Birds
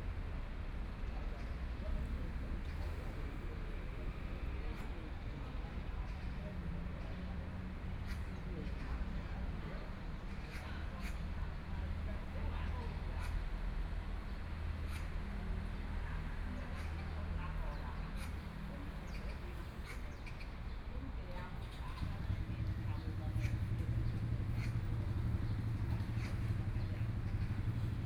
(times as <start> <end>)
6.0 28.0